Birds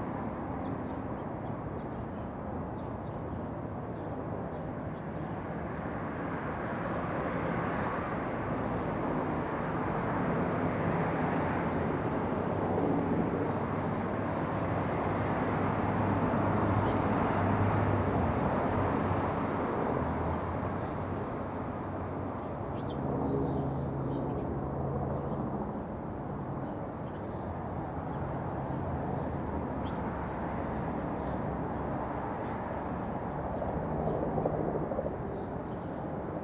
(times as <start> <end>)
26.6 30.5